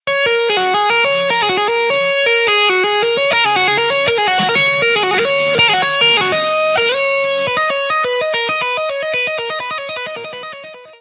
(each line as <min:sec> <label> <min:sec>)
0:00.1 guitar tapping riff 0:11.0